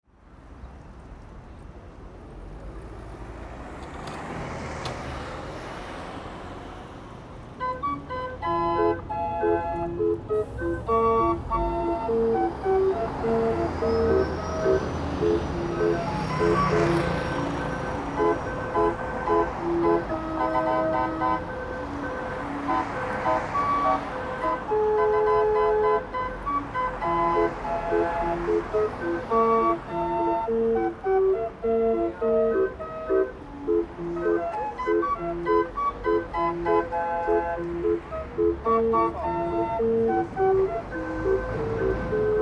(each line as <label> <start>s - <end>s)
busy street 0.0s - 42.4s